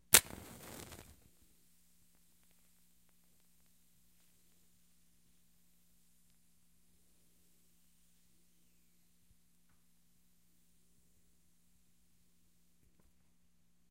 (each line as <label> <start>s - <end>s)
match strike with lengthy burn 0.0s - 1.3s